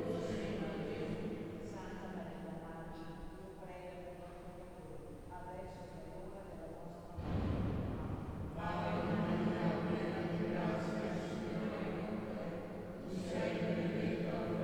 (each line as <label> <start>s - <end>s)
Liturgy 7.2s - 14.6s